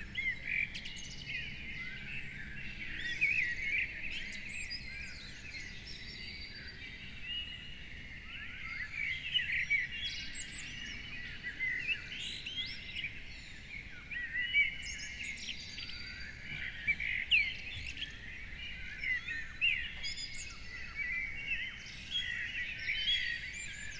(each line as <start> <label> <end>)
0.0 morning bird chorus 23.9